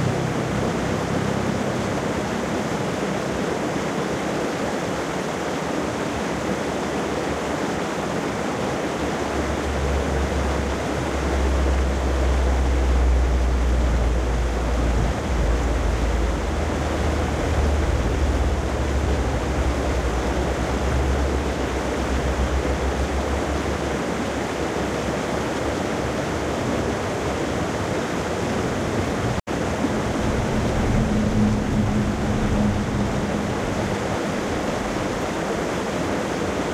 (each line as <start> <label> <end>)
0.0 waterfall 36.7